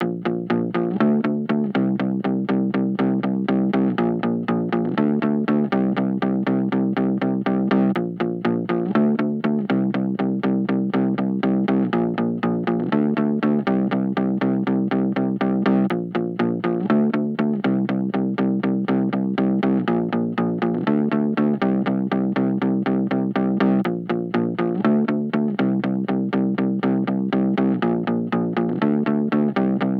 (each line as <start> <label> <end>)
0.0 Elilectric guitar distorded 29.9